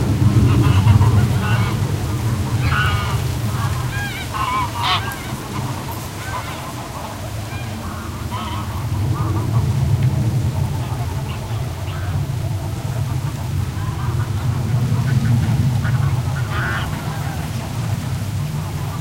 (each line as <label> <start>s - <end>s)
Greylag Geese honking 0.0s - 19.0s
airplane overheading 0.0s - 19.0s
wind on reed and grasses 0.0s - 19.0s